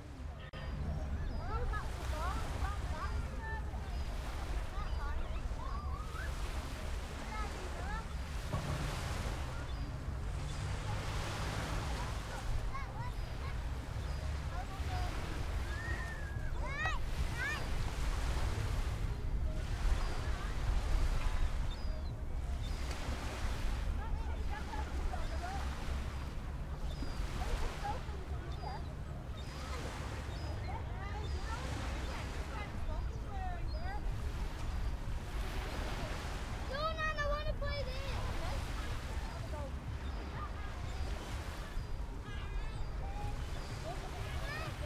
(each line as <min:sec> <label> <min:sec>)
0:00.0 children talking 0:44.8
0:00.0 gentle sea 0:44.8
0:00.5 seagulls 0:18.9
0:19.7 seagulls 0:34.6
0:35.4 seagulls 0:44.8